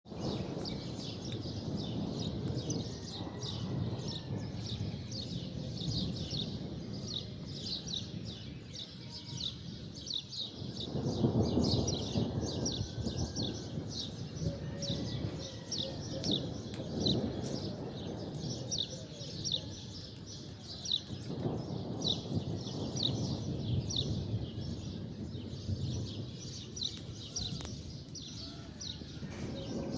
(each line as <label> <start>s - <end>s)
rolling thunder 0.1s - 29.9s